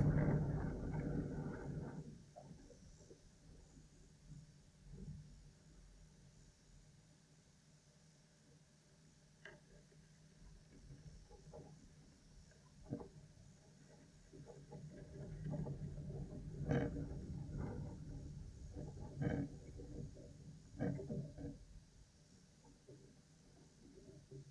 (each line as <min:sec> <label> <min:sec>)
0:00.0 vegetation scraping its surface when the wind gusts 0:02.2